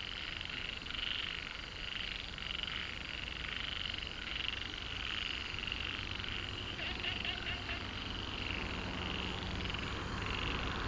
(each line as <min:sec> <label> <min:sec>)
0:00.4 Frogs chirping 0:10.8
0:04.8 Traffic Sound 0:10.8